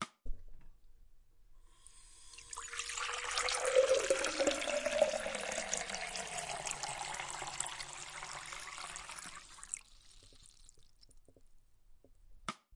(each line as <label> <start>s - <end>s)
Glas get filled with water in Sink 1.9s - 11.1s